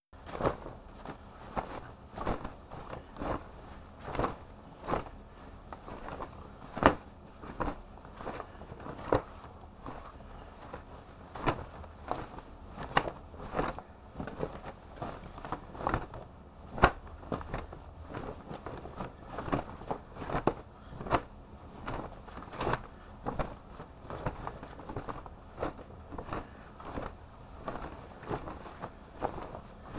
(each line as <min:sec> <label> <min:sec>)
0:00.2 large flag flapping 0:29.9